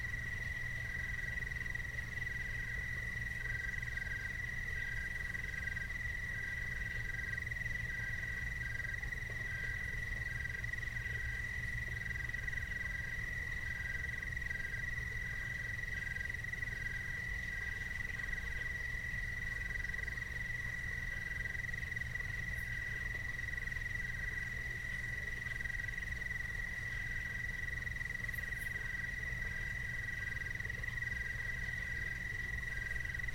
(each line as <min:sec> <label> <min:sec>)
0:00.0 Night forest insects 0:33.3
0:00.0 a creek which flows alongside the road 0:33.3